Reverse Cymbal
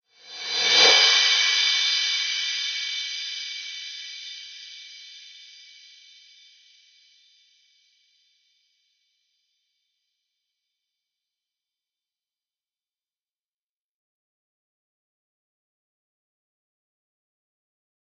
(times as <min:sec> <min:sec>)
0:00.1 0:07.0